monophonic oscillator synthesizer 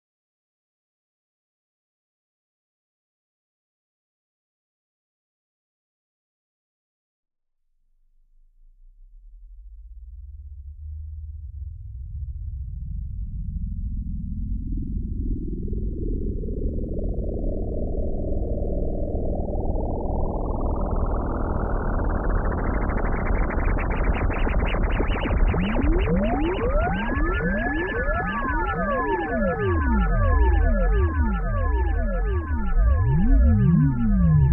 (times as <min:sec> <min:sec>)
0:18.9 0:34.5